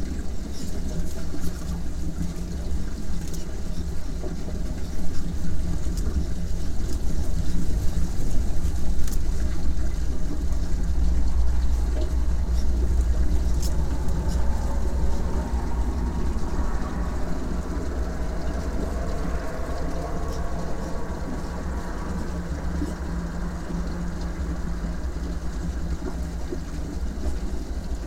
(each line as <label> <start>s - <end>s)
small dam 0.0s - 28.0s
deep lows comes from the road 7.7s - 27.6s